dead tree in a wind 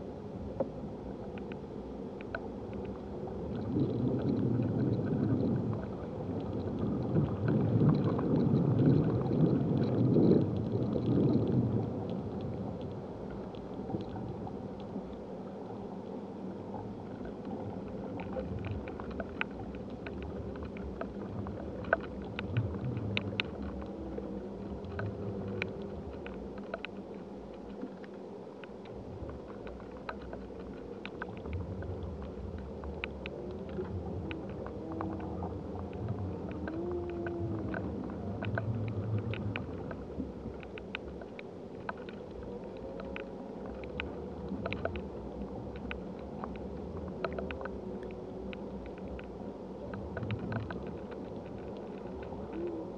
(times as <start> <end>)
3.6 13.1